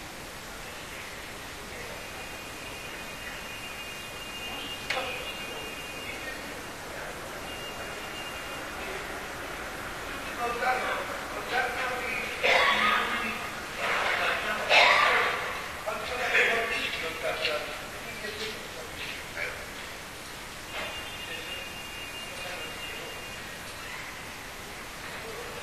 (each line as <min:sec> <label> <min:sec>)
0:00.0 traffic sound in the background 0:25.6
0:00.0 voices 0:25.6
0:12.3 two janitors who are coughing 0:13.2